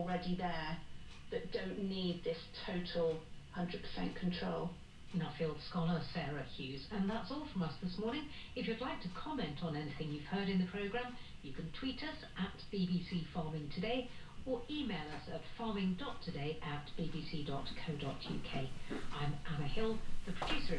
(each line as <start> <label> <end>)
14.6 radio 20.7